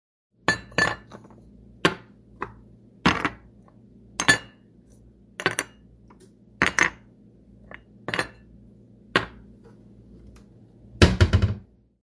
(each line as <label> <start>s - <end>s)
putting cups in cabinet 0.5s - 2.0s